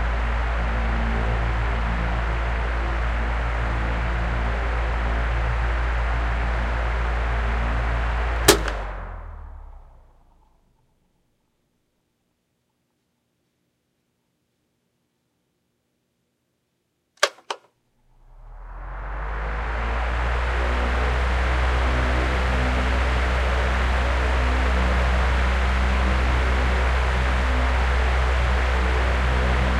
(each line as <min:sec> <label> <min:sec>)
0:18.2 table fan recorded at 3 speeds 0:29.7